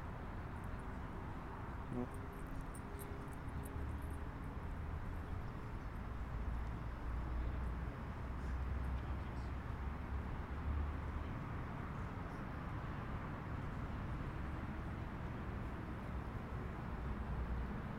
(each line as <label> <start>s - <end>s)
cars 0.0s - 17.9s